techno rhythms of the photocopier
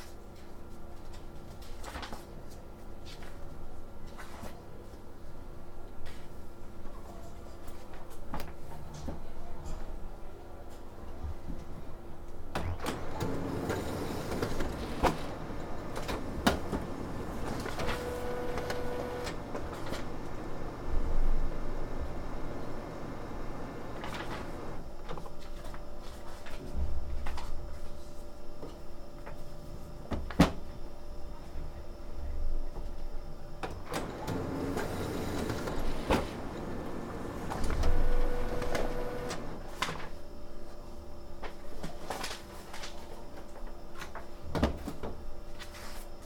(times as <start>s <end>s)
12.4s 30.1s, 32.8s 42.0s